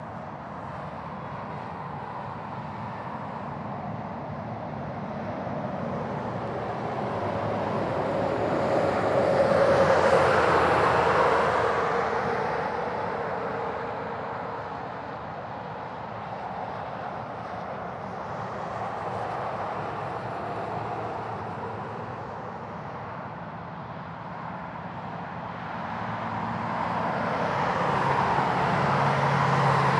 Cars and trucks passing by on a wet highway 0:00.0 - 0:29.9

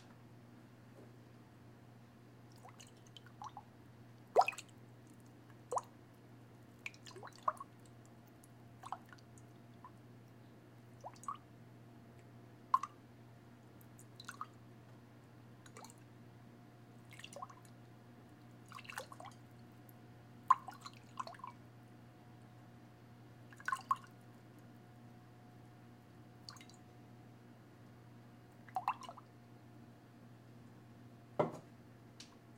glass cup water slosh 0:02.5 - 0:03.5
glass cup water slosh 0:18.6 - 0:19.4
glass cup water slosh 0:20.5 - 0:21.5
glass cup water slosh 0:23.5 - 0:24.1

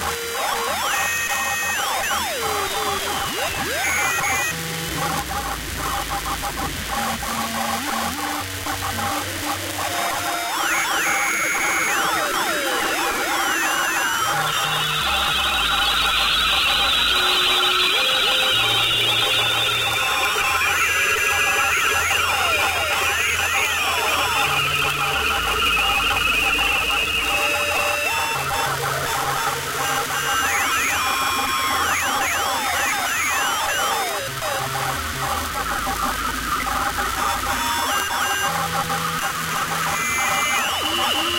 radio static 0:08.7 - 0:41.3

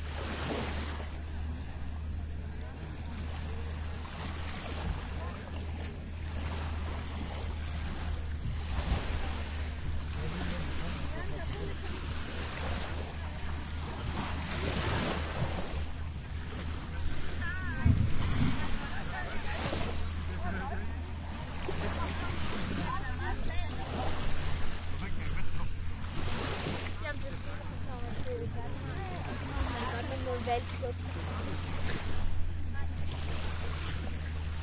voices 0:00.0 - 0:34.6
waves 0:00.0 - 0:34.6

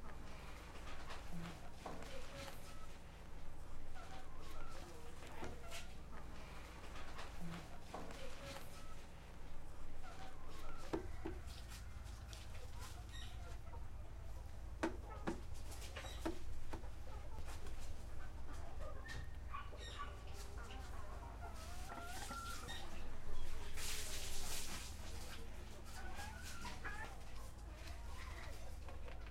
woman cleaning the hall of her house 0:20.4 - 0:26.8

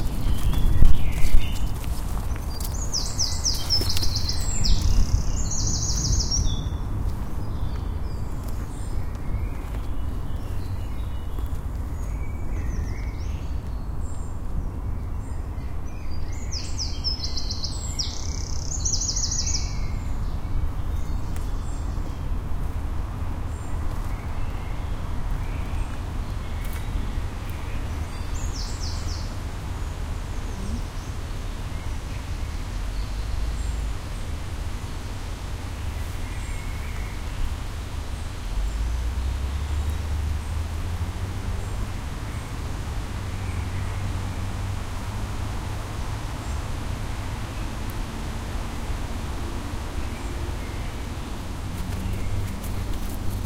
birds tweeting 0:00.0 - 0:53.4
rain 0:22.7 - 0:53.4
River 0:22.8 - 0:53.4

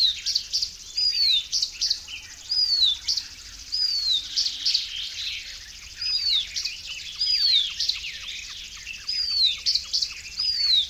garden warbler 0:00.0 - 0:10.8
icterine warbler 0:00.0 - 0:10.8

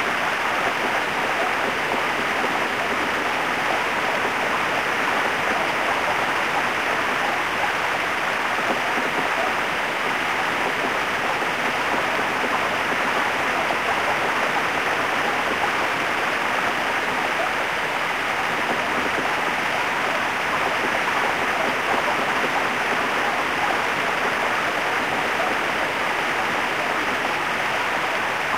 powerful river rushing all around you 0:00.0 - 0:28.5

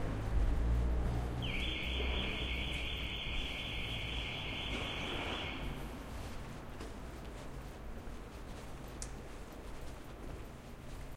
Car alarm 0:01.4 - 0:05.9

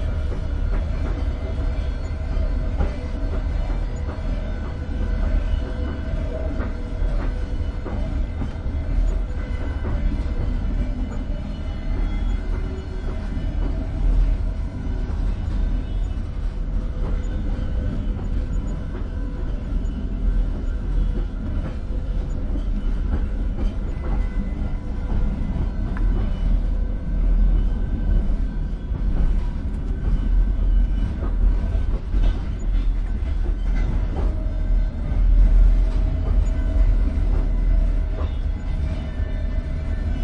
Train wheels grinding the rails 0:00.0 - 0:40.2
Water bottles stored under the cabin seats make soft sounds 0:00.0 - 0:40.2

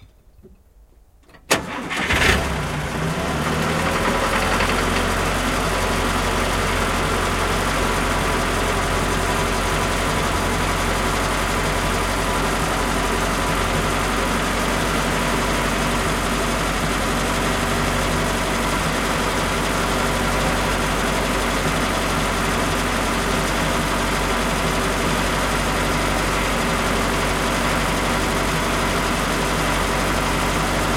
An old car idling 0:01.6 - 0:30.9

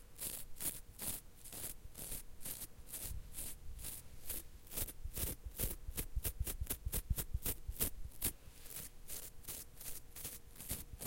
Dragging my finger across the bristles of a toothbrush 0:07.8 - 0:11.0

